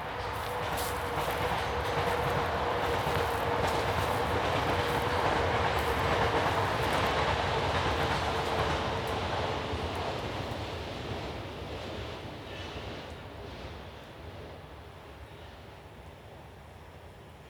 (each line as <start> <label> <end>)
0.0 Passing trains 17.4